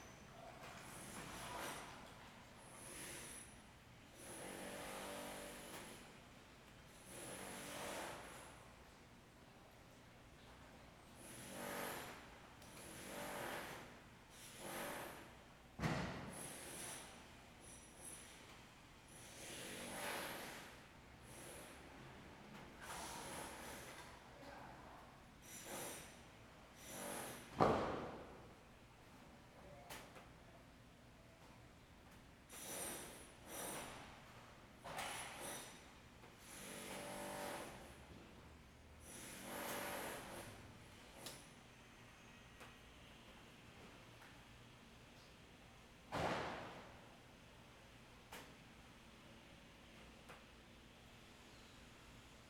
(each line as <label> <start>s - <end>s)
Construction 0.2s - 6.2s
Construction 6.9s - 9.0s
Construction 10.4s - 24.3s
Construction 25.4s - 30.3s
Construction 31.4s - 41.5s
Construction 46.1s - 47.0s